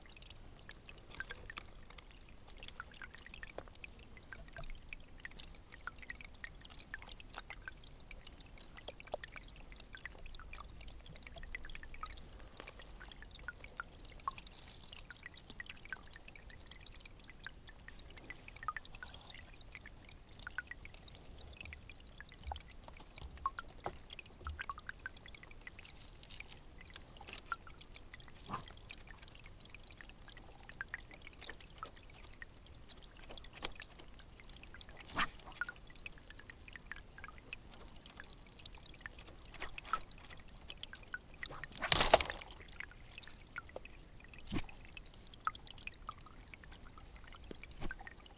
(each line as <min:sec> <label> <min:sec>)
0:00.0 stream 0:48.3
0:00.1 dripping 0:48.3